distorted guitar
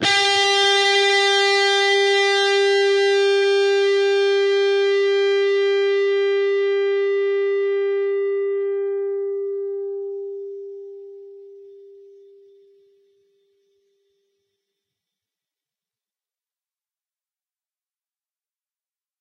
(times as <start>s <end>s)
0.0s 12.6s